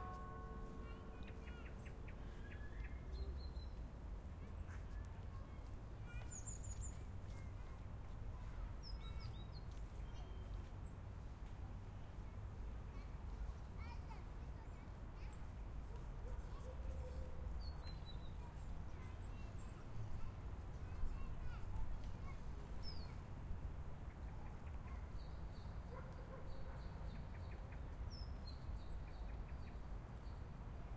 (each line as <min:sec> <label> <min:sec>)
0:00.0 bells 0:02.5